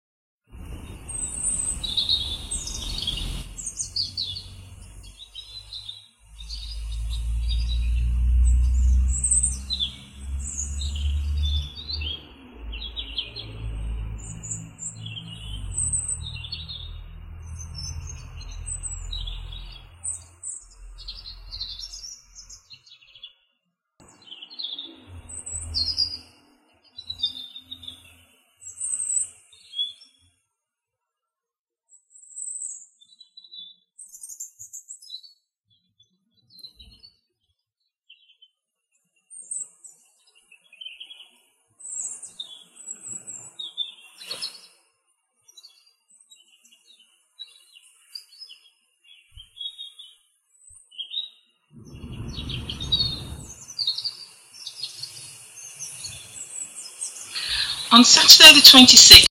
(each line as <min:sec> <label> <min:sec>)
0:00.8 Robin singing 0:22.8